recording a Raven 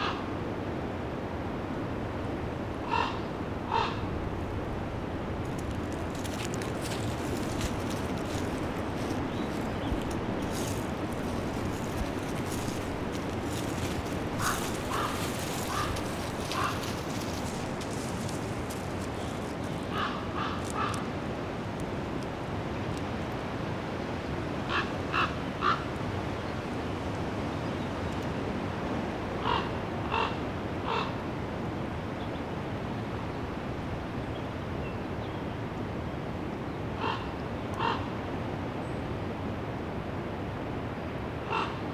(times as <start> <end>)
0.0 0.4, 2.8 4.4, 5.0 21.2, 24.6 26.0, 29.3 31.3, 36.9 39.0, 41.4 41.9